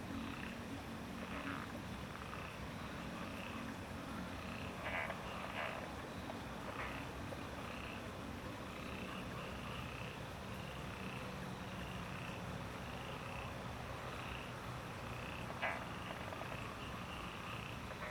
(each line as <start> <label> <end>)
0.0 water 18.1
13.0 Frogs chirping 18.1